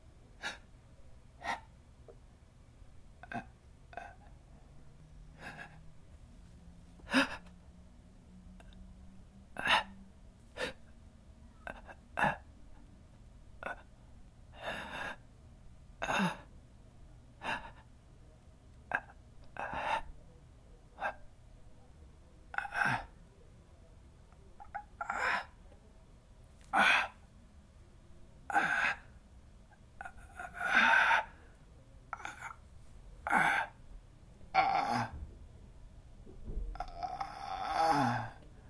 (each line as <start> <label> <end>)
5.4 Dying and gasping sounds 5.8
9.6 Dying and gasping sounds 10.0
18.9 Dying and gasping sounds 20.1
22.5 Dying and gasping sounds 23.1
24.6 Dying and gasping sounds 25.6
26.7 Dying and gasping sounds 27.2
28.5 Dying and gasping sounds 29.2
30.0 Dying and gasping sounds 32.6
33.2 Dying and gasping sounds 33.8
34.5 Dying and gasping sounds 35.3
36.7 Dying and gasping sounds 38.6